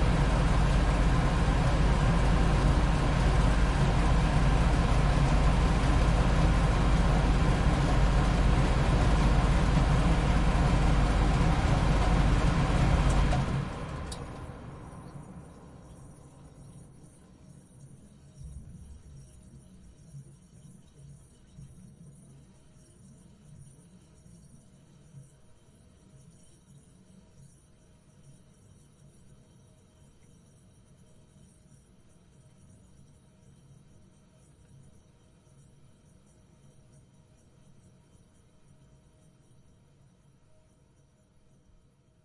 0.0s Air Conditioning Unit 20.4s

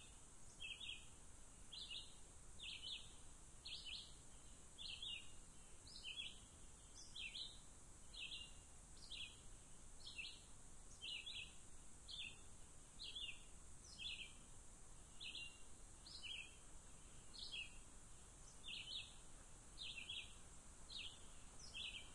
0.0s bird song 22.1s
0.0s light breeze 22.1s

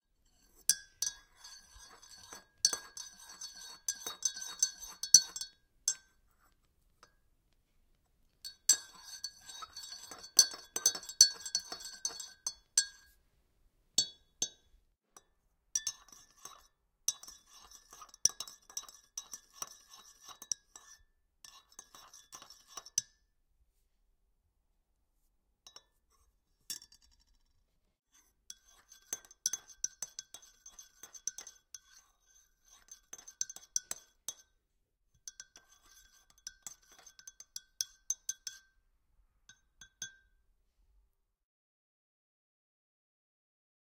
0.2s Stirring a cup of boiling water 13.2s
14.0s Stirring a cup of boiling water 14.6s
15.2s Stirring a cup of boiling water 23.2s
25.7s Stirring a cup of boiling water 34.6s
35.2s Stirring a cup of boiling water 38.8s
39.4s Stirring a cup of boiling water 40.4s

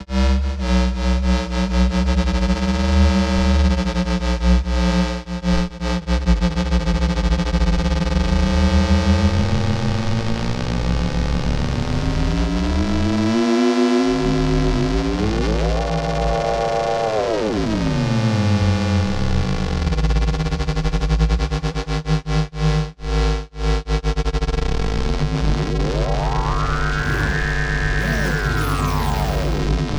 25.4s Sci-Fi Bass Warble 29.9s

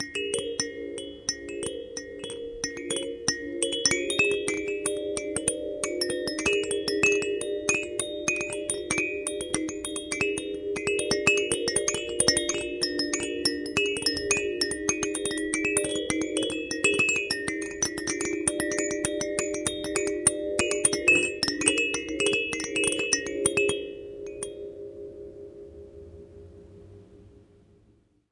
0.0s baby bell rattle 24.6s

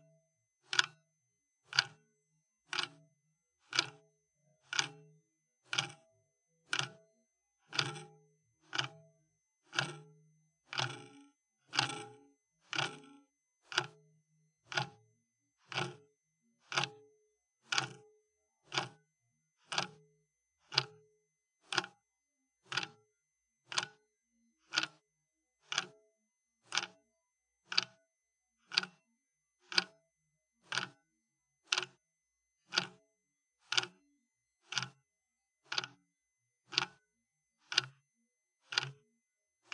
1.7s clock mechanism 2.0s
3.7s clock mechanism 4.0s
4.7s clock mechanism 5.0s
5.7s clock mechanism 6.0s
6.7s clock mechanism 7.0s
7.7s clock mechanism 8.1s
8.7s clock mechanism 9.0s
9.7s clock mechanism 10.1s
10.7s clock mechanism 13.1s
13.7s clock mechanism 14.0s
14.7s clock mechanism 15.0s
15.7s clock mechanism 16.0s
16.7s clock mechanism 16.9s
18.7s clock mechanism 18.9s
19.7s clock mechanism 20.0s
20.7s clock mechanism 21.0s
21.7s clock mechanism 21.9s
22.7s clock mechanism 23.0s
23.7s clock mechanism 23.9s
25.7s clock mechanism 25.9s
26.7s clock mechanism 27.0s
27.7s clock mechanism 28.0s
28.7s clock mechanism 28.9s
29.7s clock mechanism 29.9s
30.7s clock mechanism 31.0s
31.7s clock mechanism 31.9s
32.7s clock mechanism 33.0s
33.7s clock mechanism 33.9s
34.7s clock mechanism 35.0s
35.7s clock mechanism 36.0s
38.7s clock mechanism 39.0s

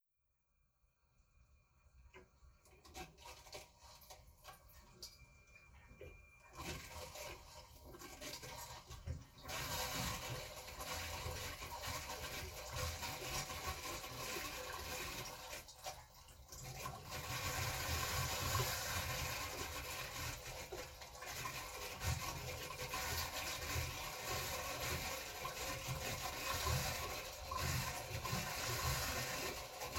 1.4s Toilet, Malfunction 29.9s

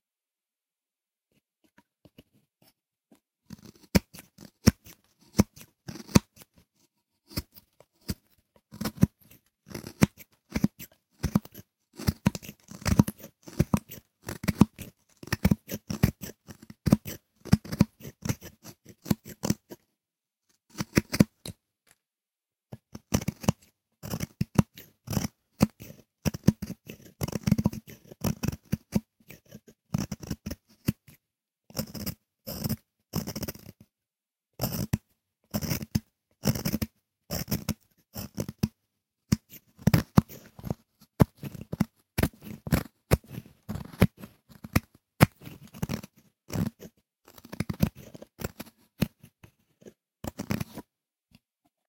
7.3s Blade on wood 19.8s
23.1s Blade on wood 30.6s

